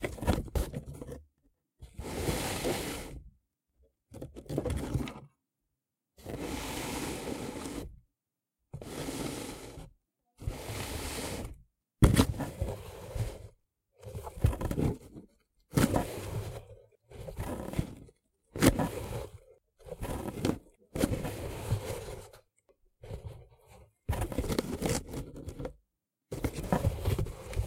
Cardboard Box Slides and Rustling 0:01.9 - 0:03.2
Cardboard Box Slides and Rustling 0:06.2 - 0:07.9
Cardboard Box Slides and Rustling 0:08.8 - 0:11.6
Cardboard Box Slides and Rustling 0:12.2 - 0:15.2
Cardboard Box Slides and Rustling 0:18.6 - 0:22.4
Cardboard Box Slides and Rustling 0:26.4 - 0:27.6

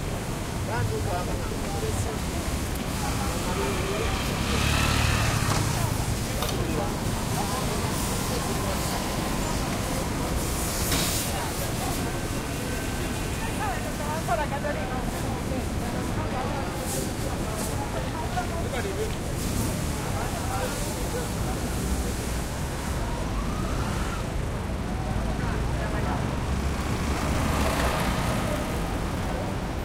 light crowd 0:00.0 - 0:29.8
traffic medium slow throaty 0:00.0 - 0:29.8

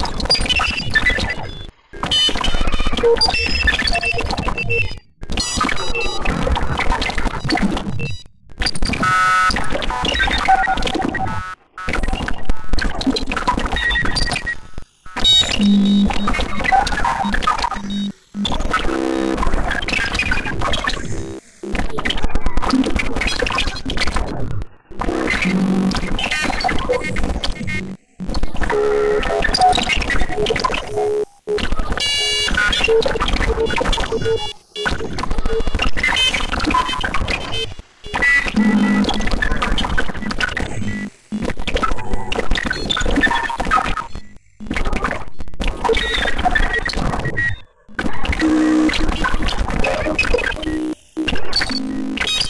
beep 0:15.4 - 0:16.4
beep 0:36.7 - 0:39.2
beep 0:40.2 - 0:41.1

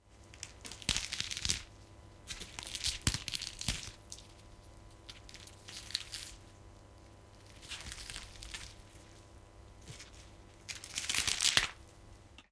cauliflower 0:02.3 - 0:11.8

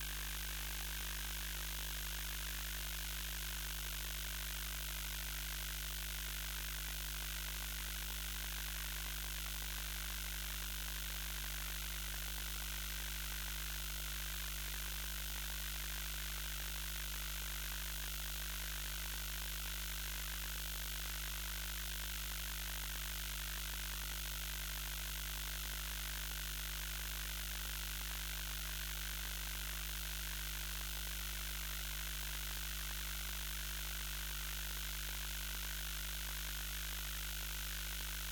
fluorescent light hum more agressive with noise 0:00.0 - 0:38.3

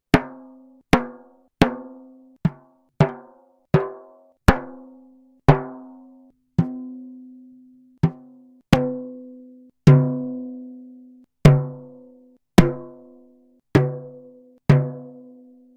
banging some kind of drum 0:05.5 - 0:05.9
banging some kind of drum 0:12.6 - 0:13.0

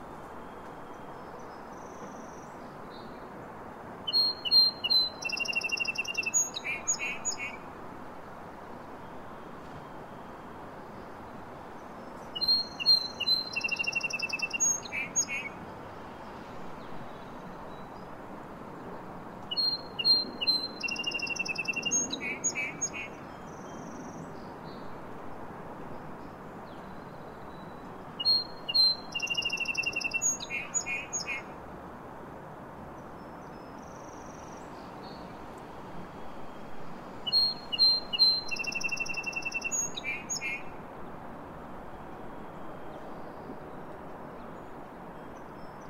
bird song 0:00.0 - 0:07.7
bird song 0:09.0 - 0:18.2
bird song 0:18.8 - 0:31.6
bird song 0:33.0 - 0:35.4
bird song 0:37.2 - 0:40.8
bird song 0:41.9 - 0:45.8

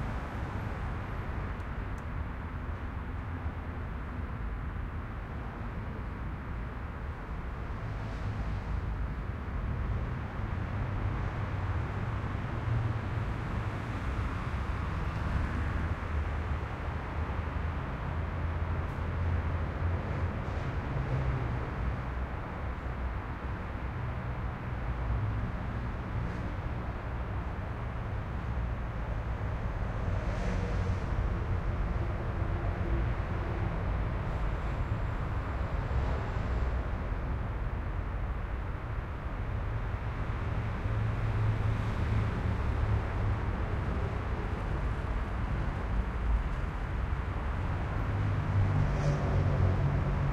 traffic 0:00.0 - 0:50.3

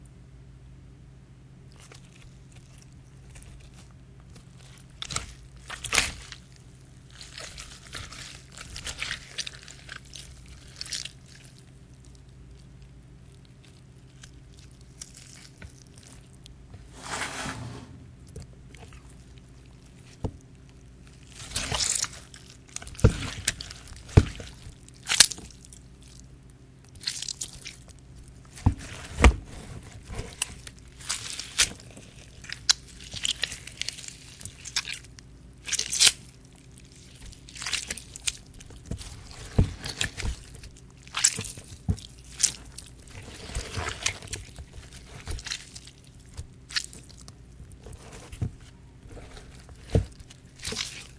Gushing of Flesh & Blood during Stabbing 0:21.2 - 0:26.2
Gushing of Flesh & Blood during Stabbing 0:30.3 - 0:47.3

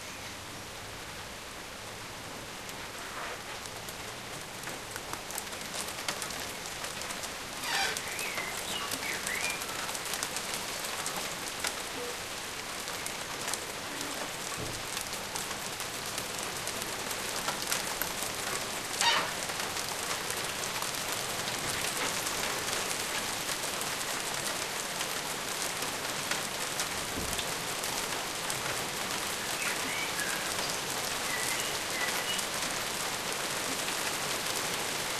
heavy rain 0:00.0 - 0:35.1

